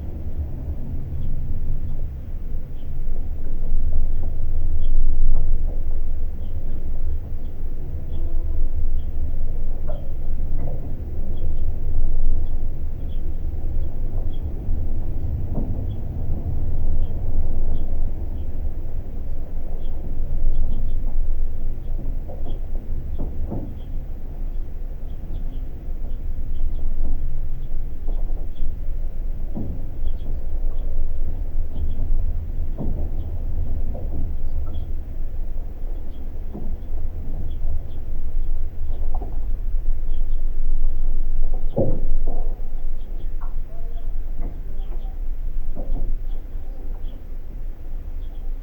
mild wind 0.0 - 48.6

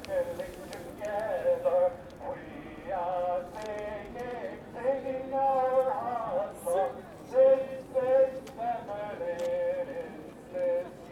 people singing together 0.0 - 10.1

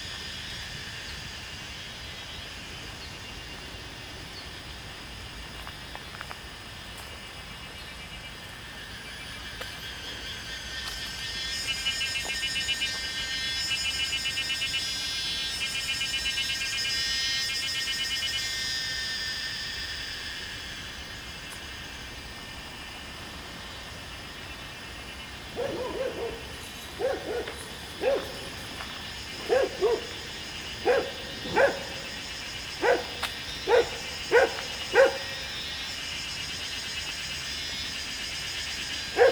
Cicadas sound 0.0 - 39.3
Walking along beside the stream 9.4 - 13.6
Walking along beside the stream 20.0 - 39.3
Dogs barking 25.3 - 36.0
Dogs barking 38.9 - 39.3

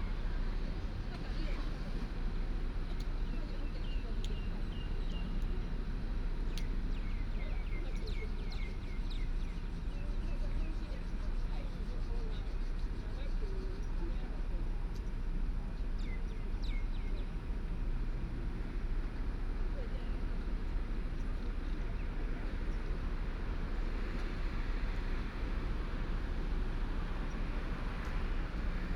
traffic sound 0.0 - 28.9
Birds sound 0.0 - 17.8

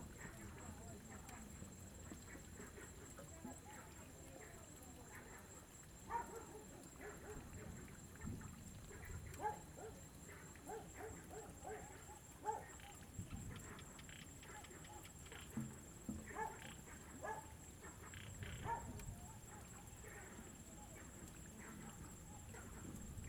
Frogs sound 0.0 - 23.2
Dogs barking 6.0 - 7.5
Dogs barking 9.4 - 12.8
Dogs barking 16.3 - 18.0
Dogs barking 18.6 - 20.3

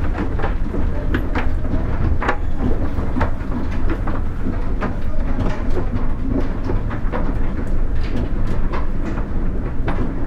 Old wooden escalator 0.0 - 10.2

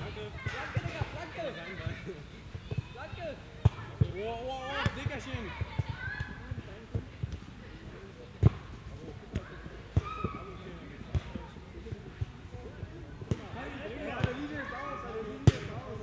youngsters playing soccer 0.0 - 16.0

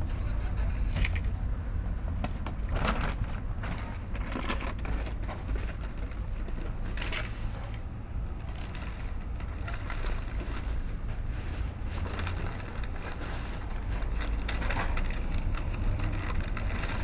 Recycling paper and plastics 0.0 - 17.0

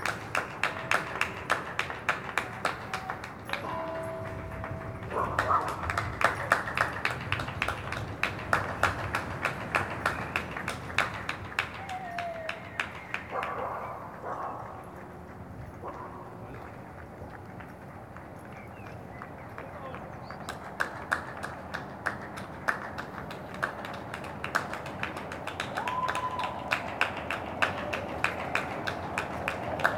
Public Clapping 0.0 - 29.9

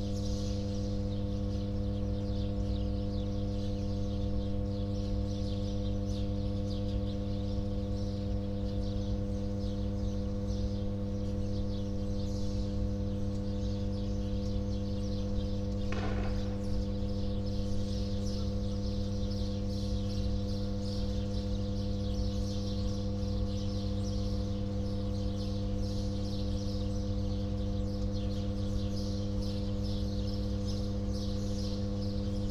shooting nearby 15.8 - 17.1

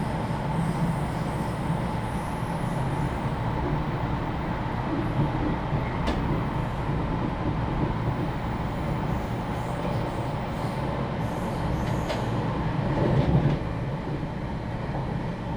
train compartment 0.0 - 15.5

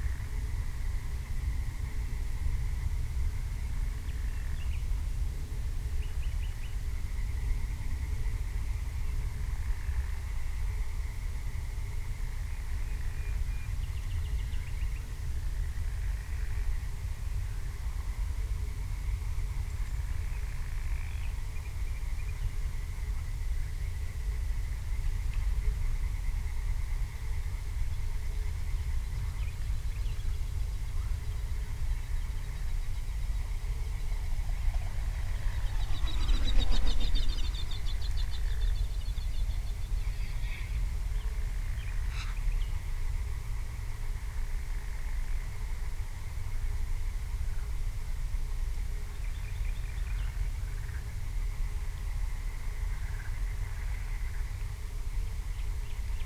music in the distance 33.6 - 38.4

